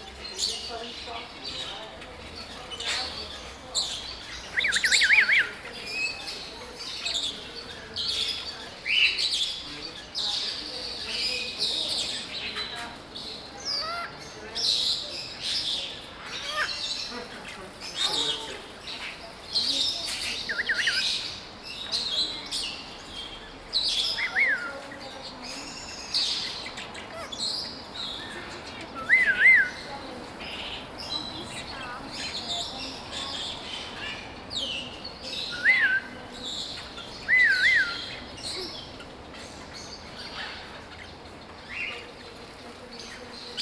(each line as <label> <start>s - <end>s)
exotic birds 0.0s - 43.6s